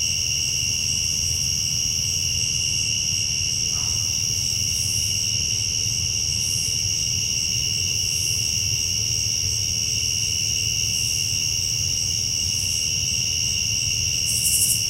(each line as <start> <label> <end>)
0.0 crickets (rather loud) 14.8